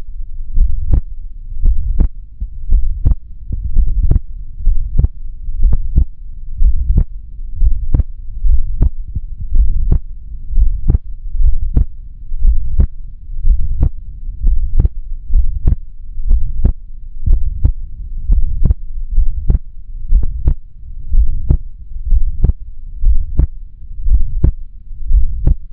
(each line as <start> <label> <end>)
0.0 heartbeat 25.7